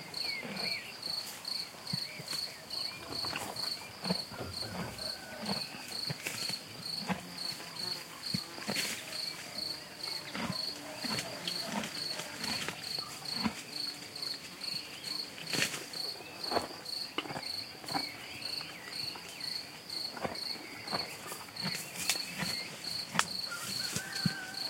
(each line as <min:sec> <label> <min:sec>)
0:00.0 birds 0:06.6
0:00.0 Crickets 0:24.6
0:00.0 noises an old horse made while he grazed 0:24.6
0:07.4 birds 0:24.6